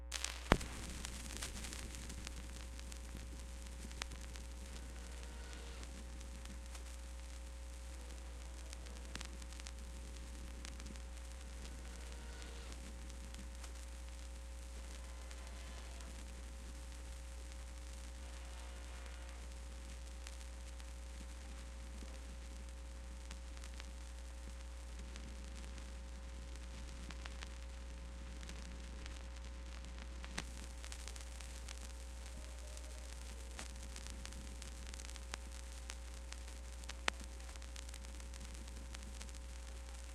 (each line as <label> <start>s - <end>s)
vinyl noise 0.0s - 40.1s